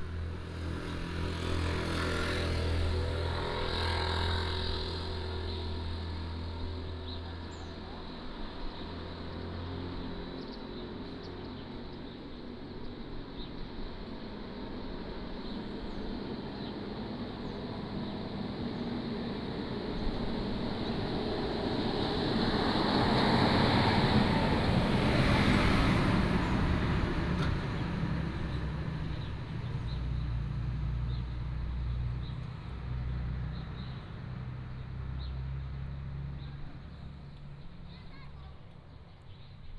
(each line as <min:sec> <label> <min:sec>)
0:15.4 Traffic Sound 0:39.7